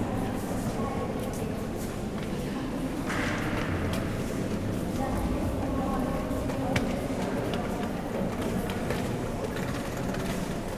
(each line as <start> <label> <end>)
0.0 group of tourists 10.7